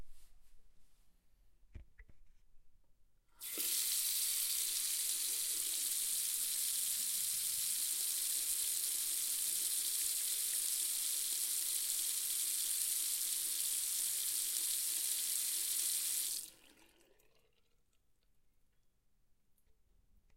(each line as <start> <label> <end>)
3.4 Bathroom tap turning on and off 17.7
16.4 water 18.3